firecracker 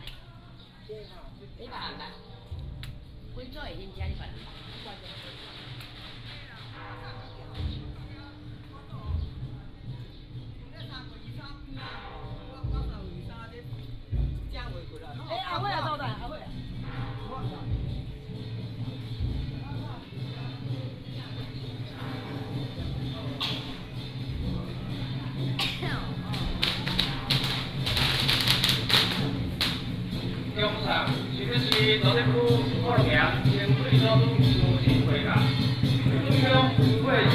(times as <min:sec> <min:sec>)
0:04.0 0:08.3, 0:16.8 0:37.3